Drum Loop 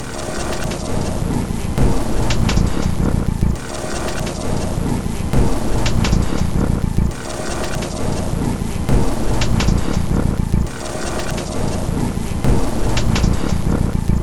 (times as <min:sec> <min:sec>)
0:01.8 0:03.6, 0:05.4 0:07.2, 0:08.9 0:10.8, 0:12.4 0:14.2